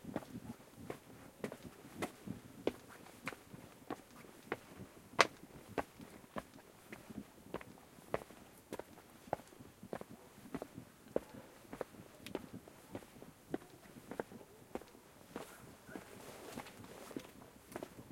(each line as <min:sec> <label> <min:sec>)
0:00.0 walk 0:18.1
0:11.2 breathing 0:11.8